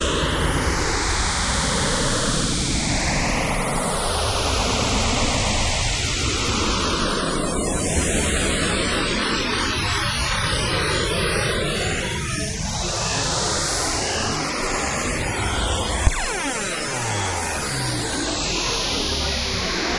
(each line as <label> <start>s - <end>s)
Alien abduction space noises 10.2s - 19.9s